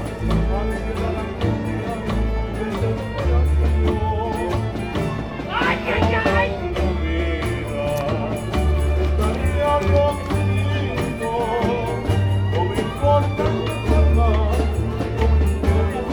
0.0s playing some songs 16.1s

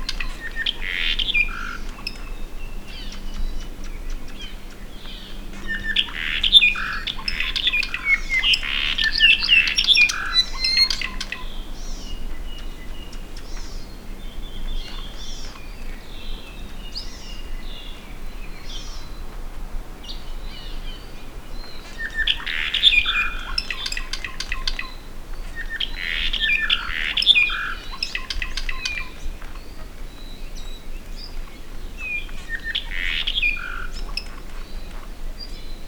0.0s Apapane (bird endemic to Hawaii) singing in tops of trees 35.8s

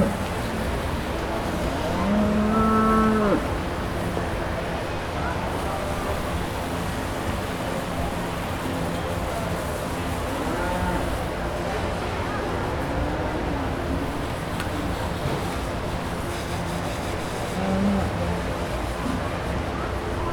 0.0s washing cows 11.6s
12.6s washing cows 19.2s

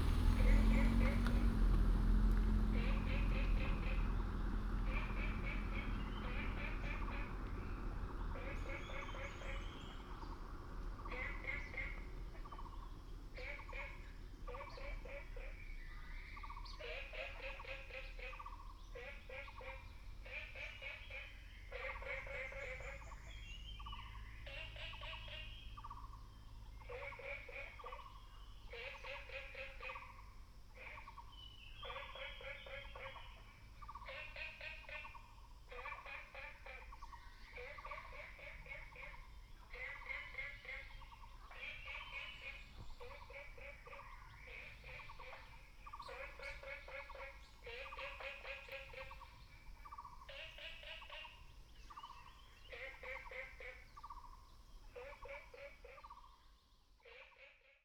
0.0s Birds singing 57.8s
0.0s Frogs chirping 57.4s

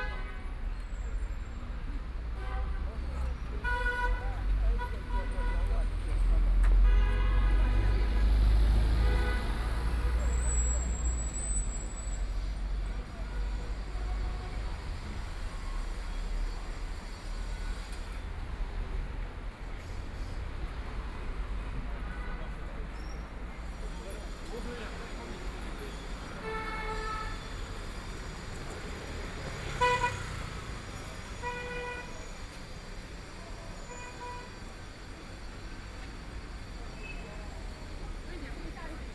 0.0s Traffic Sound 39.1s
0.0s crowd 39.1s

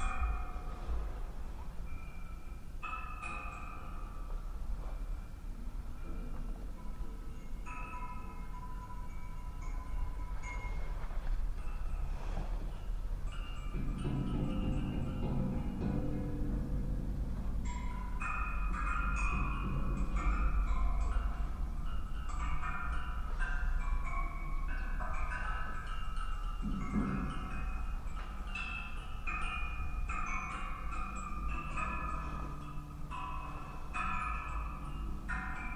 0.0s musical coat rack 35.7s

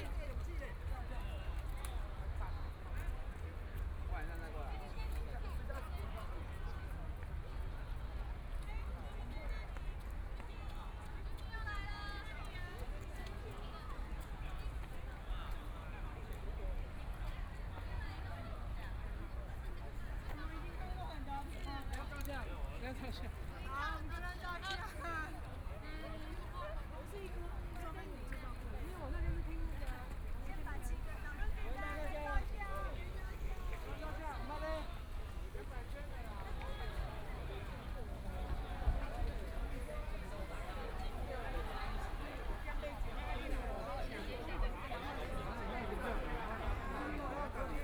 0.0s Walking through the park 47.8s

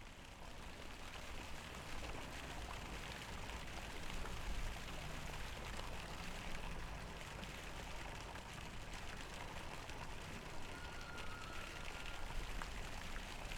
0.0s boat on the river 13.5s
0.0s water 13.5s

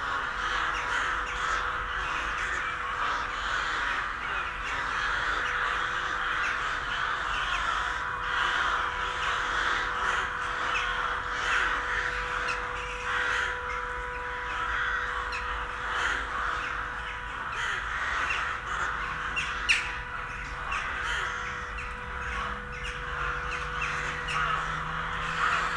0.0s crows colony 25.7s

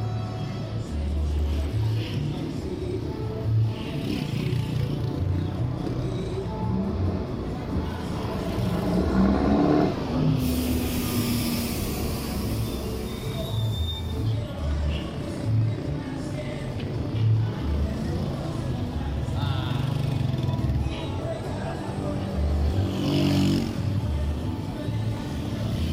0.0s carros pasando 25.9s

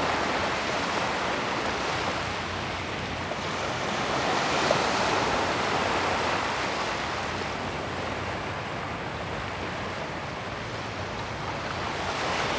0.0s the waves 12.5s

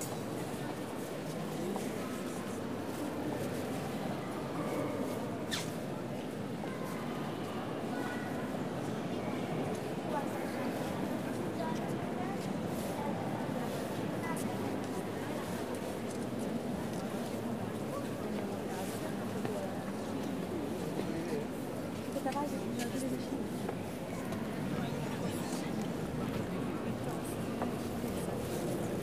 0.0s crowd of visitors 29.0s

